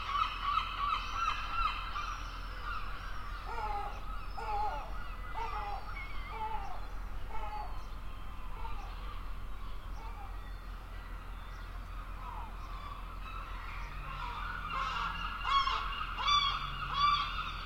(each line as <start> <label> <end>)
0.0 Seagulls 17.6